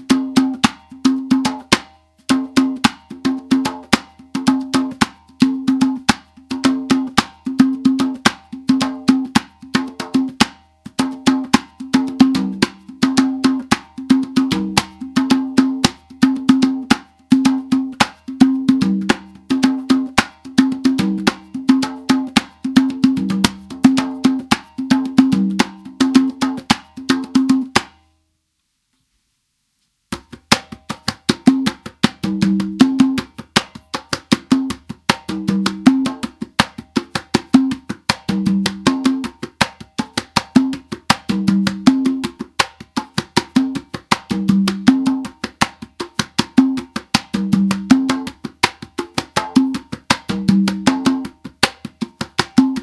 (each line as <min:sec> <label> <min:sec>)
0:00.0 congas 0:28.1
0:30.0 congas 0:52.8